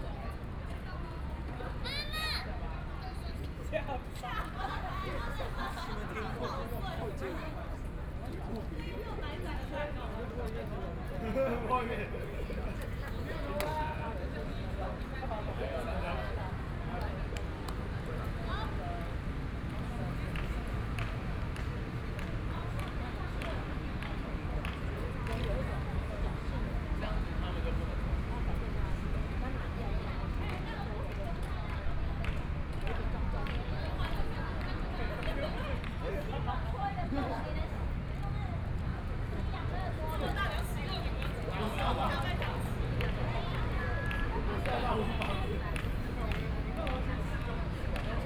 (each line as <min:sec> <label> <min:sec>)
0:01.8 young people are practicing skateboard and dance 0:02.5